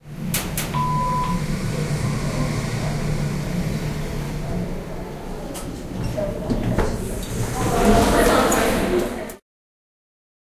0.0s elevator 9.4s

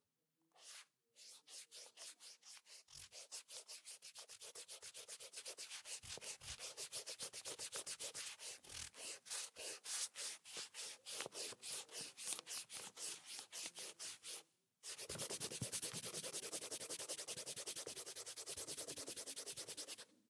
0.6s Sliding an eraser on a piece of paper 20.1s

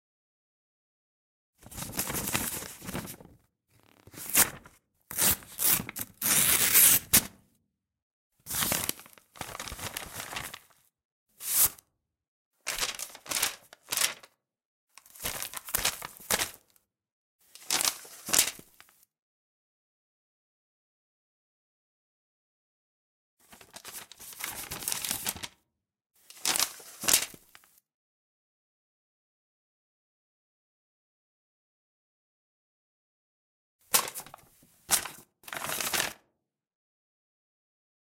1.6s moving the paper around in different ways 7.4s
1.6s opening a paper envelope 7.4s
8.5s opening a paper envelope 11.8s
8.5s moving the paper around in different ways 11.8s
12.7s moving the paper around in different ways 14.3s
12.7s opening a paper envelope 14.3s
15.0s moving the paper around in different ways 16.7s
15.0s opening a paper envelope 16.7s
17.4s moving the paper around in different ways 19.0s
17.6s opening a paper envelope 19.0s
23.4s moving the paper around in different ways 25.5s
23.5s opening a paper envelope 25.5s
26.2s moving the paper around in different ways 27.8s
26.3s opening a paper envelope 27.8s
33.9s opening a paper envelope 36.2s
33.9s moving the paper around in different ways 36.2s

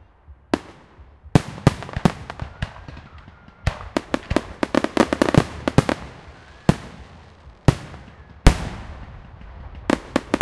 0.0s Crackling fireworks 10.4s

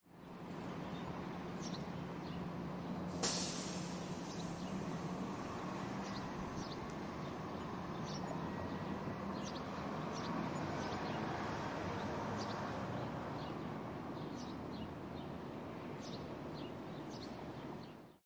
0.1s Buses leaving a city bus station 18.2s
3.1s air brakes 5.0s

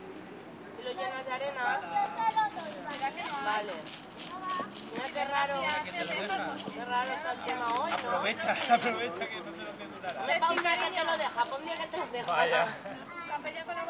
0.8s parents 13.8s
1.8s children 6.8s
10.4s children 13.8s

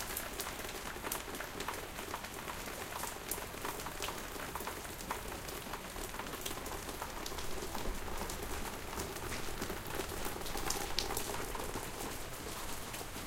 0.0s RAIN SOUND 13.2s

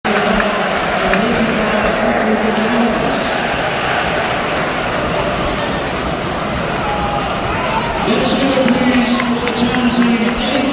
0.1s excited fortball crowd 10.7s
1.3s tannoy 4.0s

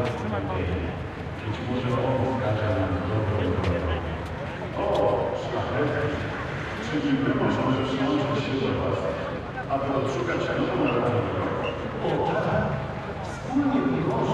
0.0s crowd 14.3s

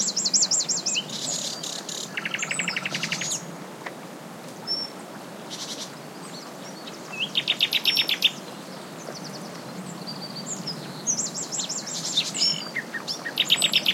0.0s Nightingale singing 3.5s
0.0s stream 13.9s
0.0s wind 13.9s
4.7s Nightingale singing 13.9s

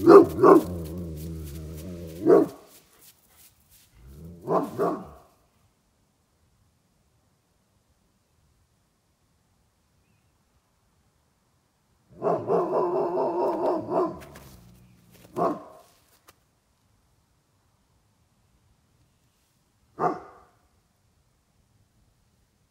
0.0s Finnish hound barking 2.8s
0.0s Irish wolfhound 5.4s
4.4s Finnish hound barking 5.3s
12.1s Finnish hound barking 15.9s
12.2s Irish wolfhound 16.3s
20.0s Finnish hound barking 20.6s
20.0s Irish wolfhound 20.6s

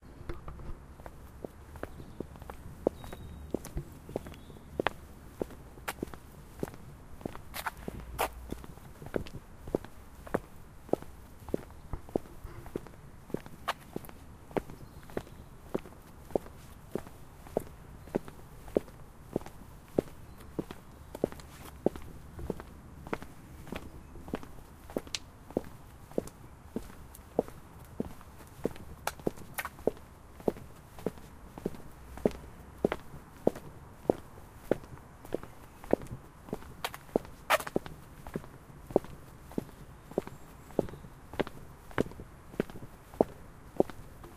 0.4s 2 persons walking on stonefloor 44.3s
1.7s birds singing 5.1s
14.6s birds singing 18.4s
20.0s birds singing 22.6s
39.5s birds singing 41.6s

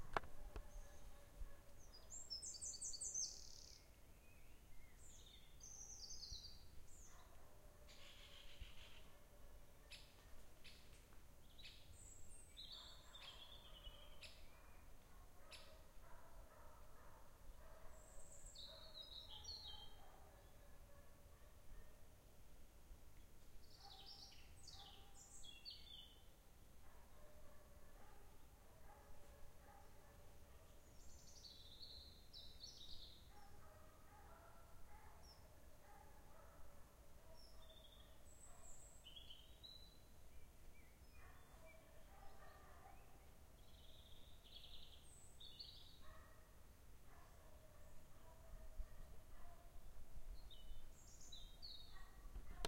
0.0s birds 22.0s
0.0s trees 52.6s
23.2s birds 49.8s

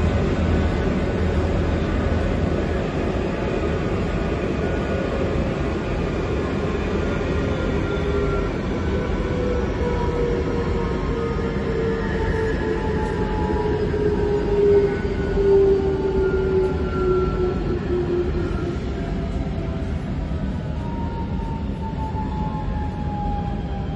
0.0s passengers 23.9s

